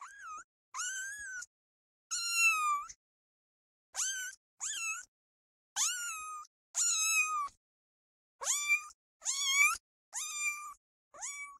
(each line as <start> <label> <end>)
0.0 kitten is meowing 1.5
2.1 kitten is meowing 3.0
4.0 kitten is meowing 5.1
5.8 kitten is meowing 7.6
8.4 kitten is meowing 11.5